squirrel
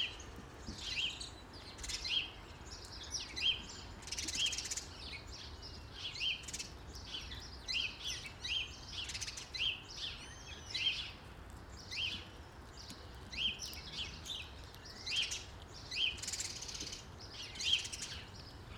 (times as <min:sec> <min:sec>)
0:10.2 0:18.4